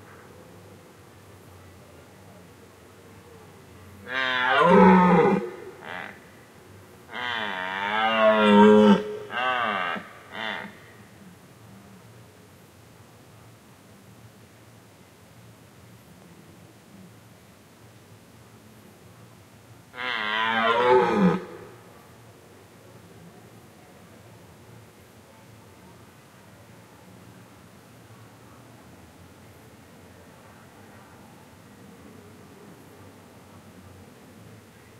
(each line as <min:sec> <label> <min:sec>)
0:04.1 Deer calling and rutting 0:06.2
0:07.1 Deer calling and rutting 0:10.7